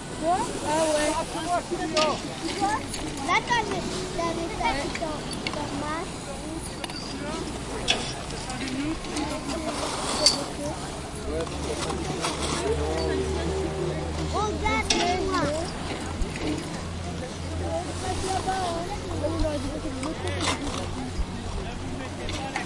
distant voices speaking french 0:00.0 - 0:22.6

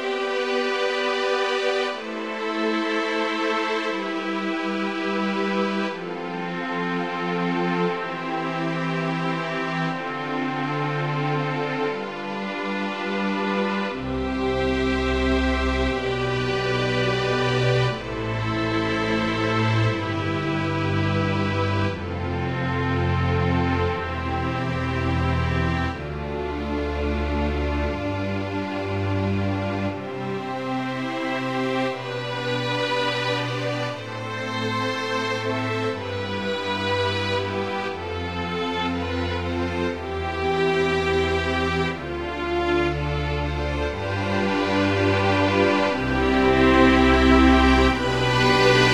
String Orchestra 0:00.0 - 0:48.9

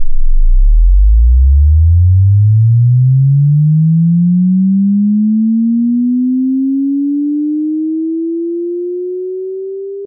Bass Sine Sweep 0:00.0 - 0:10.0

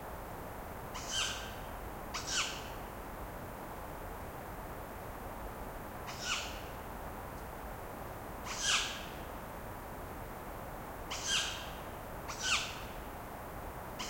wind of the forest 0:00.0 - 0:14.0
Tawny owl screeching for hours 0:08.5 - 0:09.0

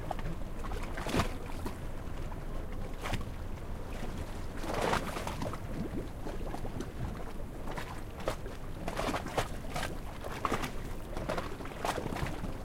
Waves 0:00.0 - 0:12.6

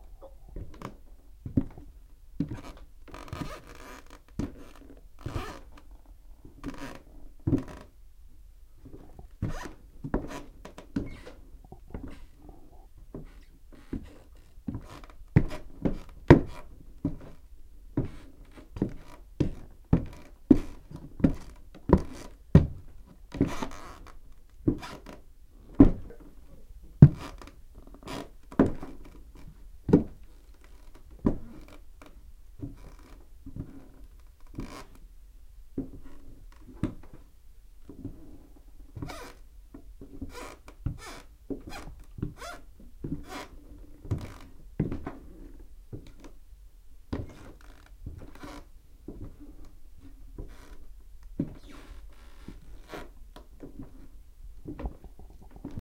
Footsteps on wood 0:06.6 - 0:07.9
Footsteps on wood 0:44.1 - 0:45.2
Footsteps on wood 0:47.2 - 0:50.8

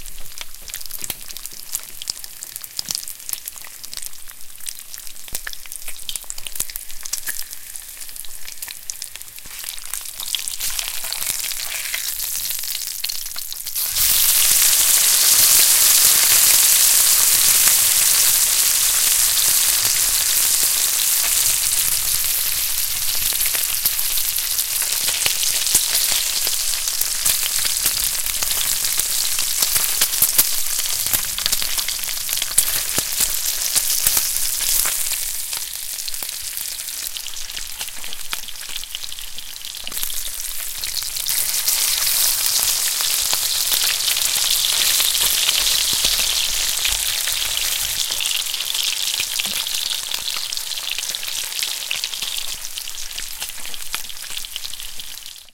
Flipping bacon in a hot skillet 0:00.1 - 0:55.5

